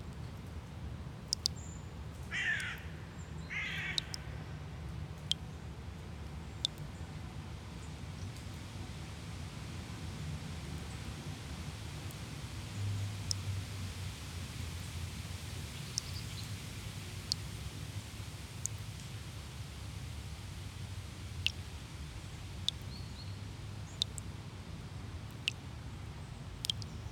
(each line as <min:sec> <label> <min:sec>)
0:00.0 dripping tap 0:02.8
0:03.5 dripping tap 0:04.2
0:13.2 dripping tap 0:13.5
0:17.2 dripping tap 0:17.5
0:18.6 dripping tap 0:19.1
0:21.4 dripping tap 0:21.7
0:22.6 dripping tap 0:23.0
0:23.6 dripping tap 0:24.2
0:25.2 dripping tap 0:25.6
0:26.6 dripping tap 0:27.1